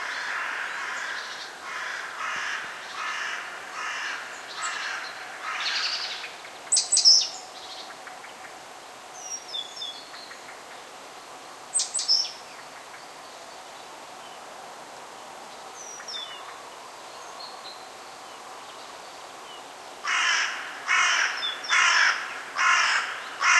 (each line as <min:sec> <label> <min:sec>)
0:00.0 crows singing 0:08.5
0:20.0 crows singing 0:23.5